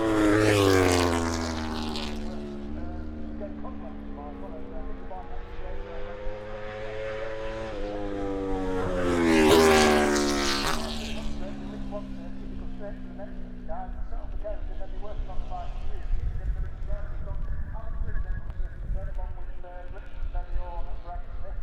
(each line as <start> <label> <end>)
0.0 moto grand prix 21.6